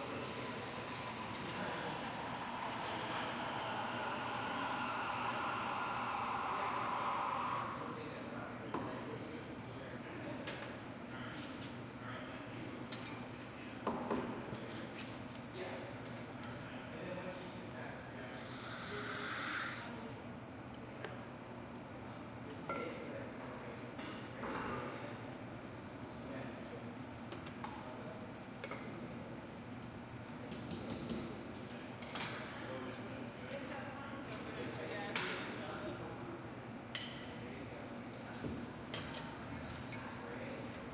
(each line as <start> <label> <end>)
0.0 barista 40.9